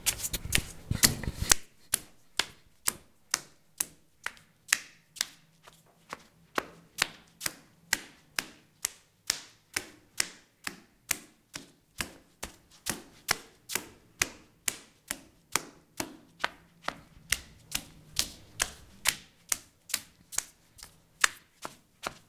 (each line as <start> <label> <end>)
16.0 Footsteps Walking Bare Feet 22.2